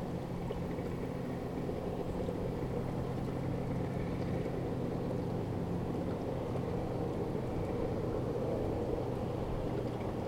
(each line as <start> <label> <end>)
0.0 Boats approaching 10.2